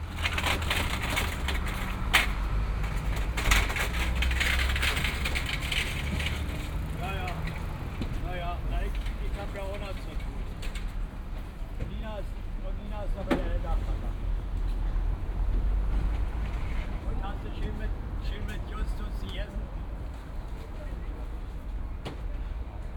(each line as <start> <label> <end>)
0.0 cleanup 11.0
5.8 man regulates traffic 10.7
11.5 man regulates traffic 14.4
16.9 man regulates traffic 21.6